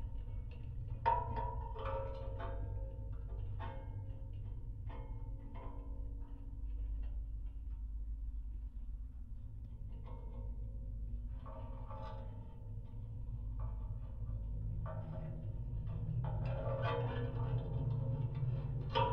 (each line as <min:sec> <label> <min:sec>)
0:00.0 metallic constructions on abandoned water tower 0:19.1